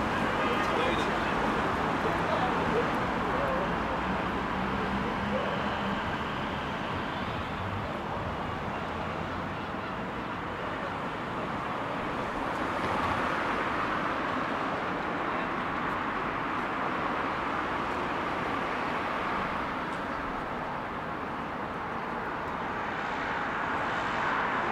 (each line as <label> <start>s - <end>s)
groups of friends chatting 0.0s - 5.7s
vehicles passing 0.0s - 24.7s